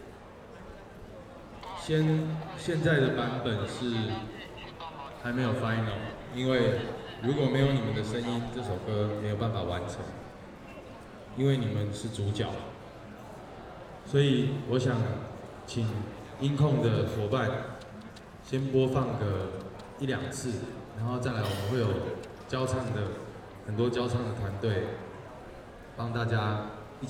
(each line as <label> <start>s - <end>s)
People and students 0.0s - 27.0s